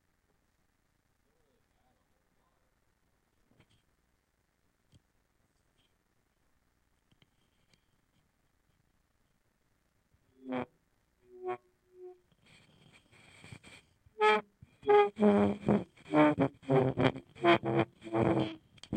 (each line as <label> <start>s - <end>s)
feedback loop involving a contact mic and surface transducer 10.2s - 18.9s